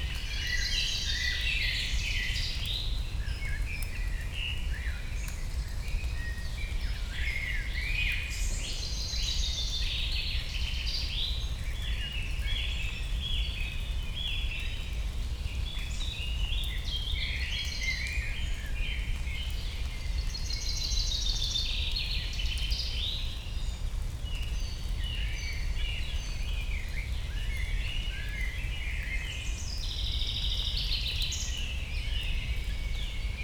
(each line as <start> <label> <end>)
0.0 light rain 33.4